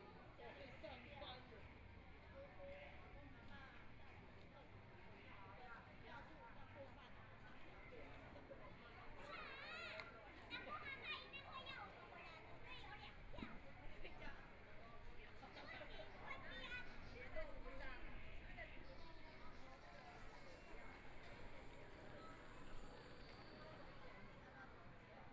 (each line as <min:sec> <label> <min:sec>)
0:09.1 children are playing games 0:13.6